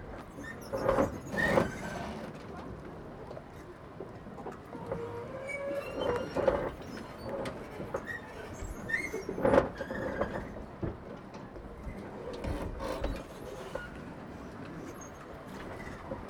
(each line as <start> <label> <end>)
0.0 boats hitting and scraping against each other and their moorings 16.2